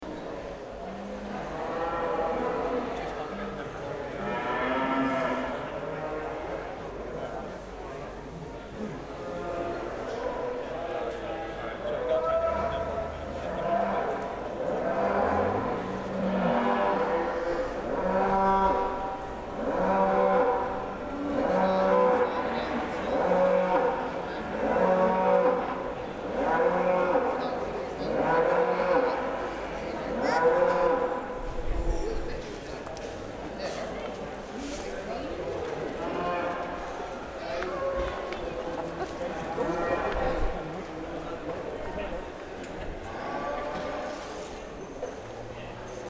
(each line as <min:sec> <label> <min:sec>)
0:11.9 Cattle 0:31.2
0:43.0 Cattle 0:45.2